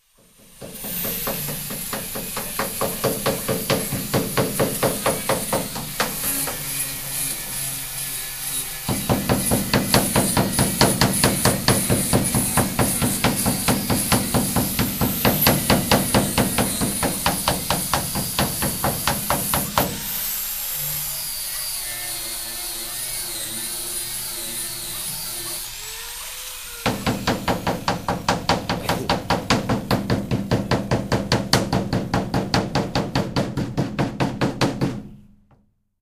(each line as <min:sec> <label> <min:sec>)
0:00.0 sanding machine 0:33.9
0:00.2 removing the rust from an iron boat with a hammer 0:07.3
0:08.9 removing the rust from an iron boat with a hammer 0:20.2
0:26.9 removing the rust from an iron boat with a hammer 0:35.1